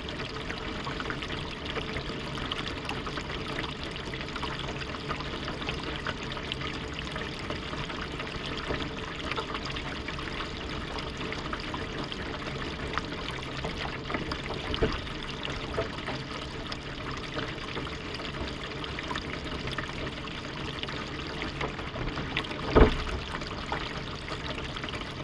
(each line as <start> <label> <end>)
0.0 Water gushing down the drainpipe 25.2